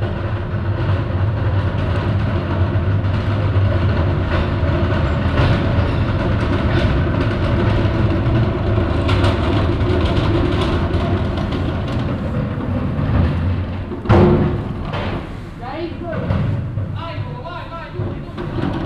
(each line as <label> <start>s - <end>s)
Garbage Waggons 8.7s - 18.8s